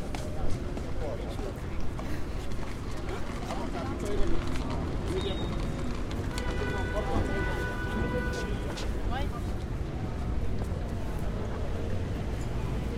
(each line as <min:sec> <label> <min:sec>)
0:00.0 cars 0:12.9